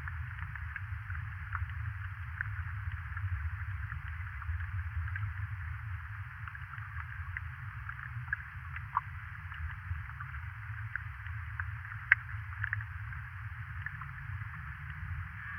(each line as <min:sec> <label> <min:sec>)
0:14.2 low drone - probably from the wooden bridge vibrating in the wind 0:15.5